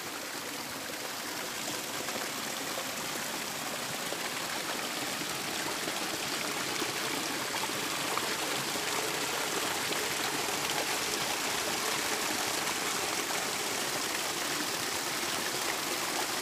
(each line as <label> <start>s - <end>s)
waterfall and creek 0.0s - 16.4s